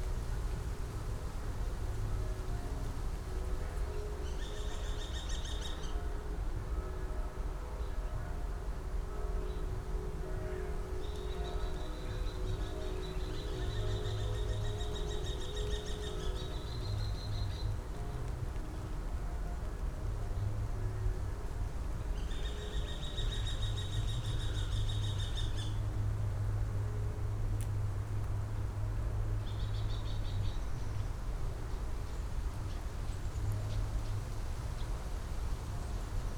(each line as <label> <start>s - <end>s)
churchbells 2.1s - 21.7s